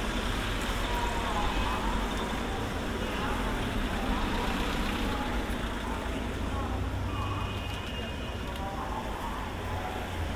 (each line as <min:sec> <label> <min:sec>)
0:00.0 Many cars go by 0:10.3
0:00.0 fruit truck with a loudspeaker 0:10.3
0:00.8 Korean language 0:10.3